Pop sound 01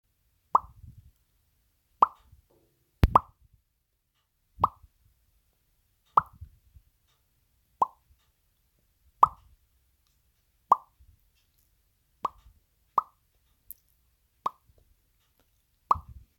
0:03.0 0:03.4

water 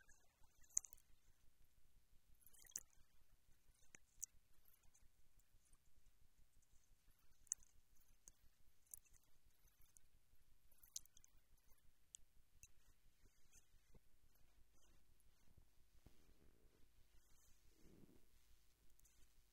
0:00.0 0:01.2, 0:02.4 0:03.1

